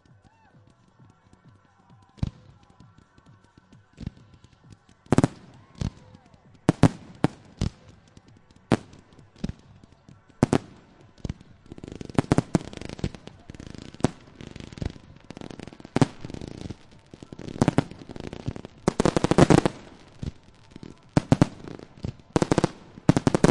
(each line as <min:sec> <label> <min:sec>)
0:00.0 crowd 0:23.5
0:00.0 fireworks display 0:23.5